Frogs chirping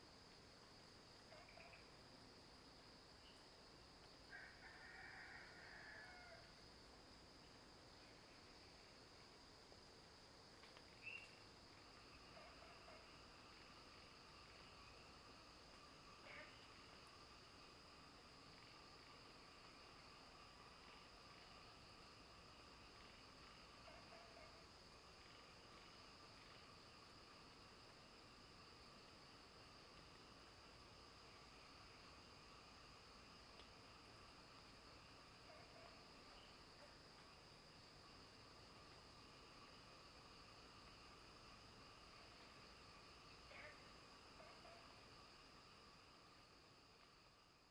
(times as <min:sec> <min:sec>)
0:11.0 0:17.4